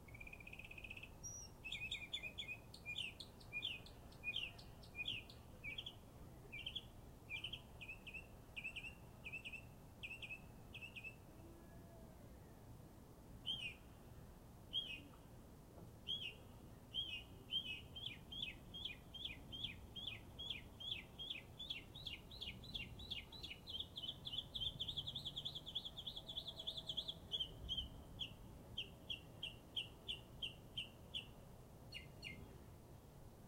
bird 0:00.1 - 0:11.9
bird 0:14.7 - 0:15.2
bird 0:16.0 - 0:32.6

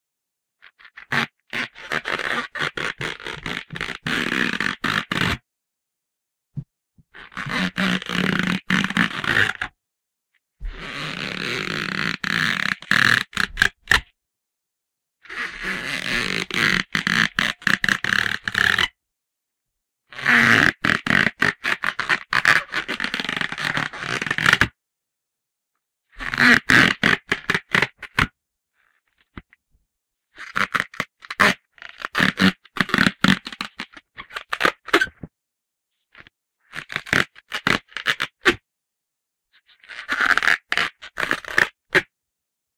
cartoon stretching sound I made with a balloon 0:00.8 - 0:05.4
cartoon stretching sound I made with a balloon 0:07.2 - 0:09.7
cartoon stretching sound I made with a balloon 0:10.6 - 0:14.0
cartoon stretching sound I made with a balloon 0:15.3 - 0:18.9
cartoon stretching sound I made with a balloon 0:20.1 - 0:24.7
cartoon stretching sound I made with a balloon 0:26.2 - 0:28.3
cartoon stretching sound I made with a balloon 0:30.4 - 0:35.3
cartoon stretching sound I made with a balloon 0:36.7 - 0:38.6
cartoon stretching sound I made with a balloon 0:39.8 - 0:42.1

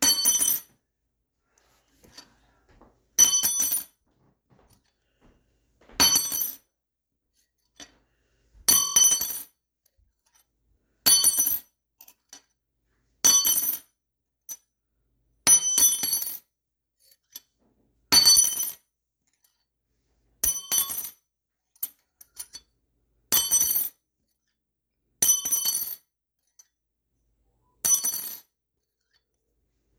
Wrench drops on tile 0:00.0 - 0:00.8
Wrench drops on tile 0:03.2 - 0:04.7
Wrench drops on tile 0:05.8 - 0:06.7
Wrench drops on tile 0:25.3 - 0:26.0
Wrench drops on tile 0:27.8 - 0:28.5

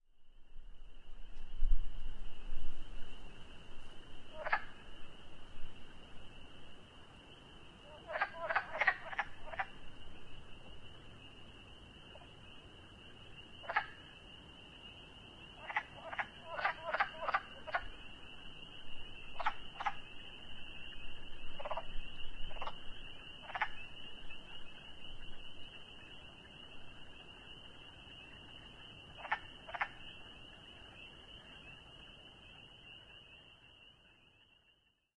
Wood Frog(s) (Rana sylvatica) calling 0:04.2 - 0:06.5
Wood Frog(s) (Rana sylvatica) calling 0:07.3 - 0:35.1

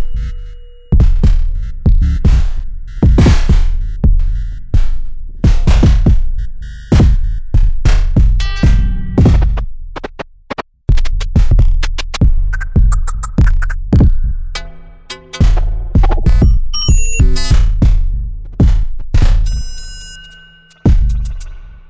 synthesizer 0:12.5 - 0:21.8

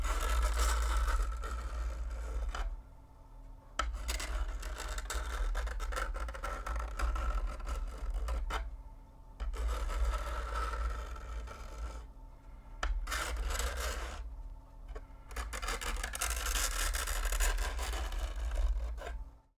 Fingernails on chalkboard 0:03.8 - 0:08.7
Fingernails on chalkboard 0:09.4 - 0:12.1
Fingernails on chalkboard 0:12.8 - 0:14.3
Fingernails on chalkboard 0:14.9 - 0:19.2

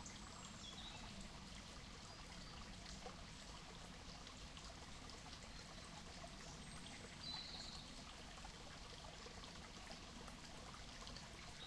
bird song 0:00.0 - 0:01.2
stream 0:00.0 - 0:11.6
bird song 0:05.4 - 0:08.0

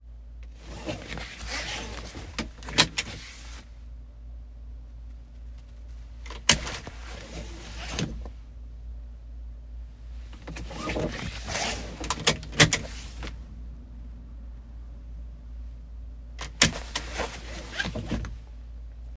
Seat belt being buckled and unbuckled 0:00.4 - 0:03.7
Seat belt being buckled and unbuckled 0:05.6 - 0:08.4
Seat belt being buckled and unbuckled 0:10.3 - 0:13.4
Seat belt being buckled and unbuckled 0:16.4 - 0:18.4

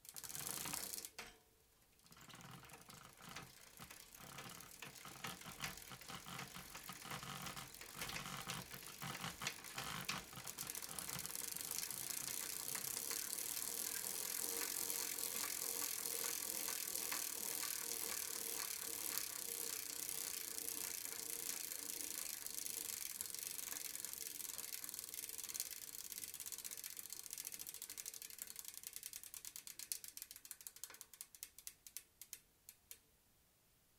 Bike wheel 0:00.0 - 0:01.4
Bike wheel 0:02.0 - 0:33.0

